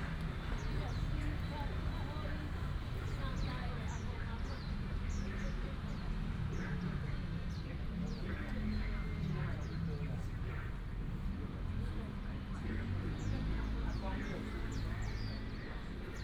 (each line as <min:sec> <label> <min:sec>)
0:00.0 Traffic sound 0:04.0
0:13.1 birds 0:16.2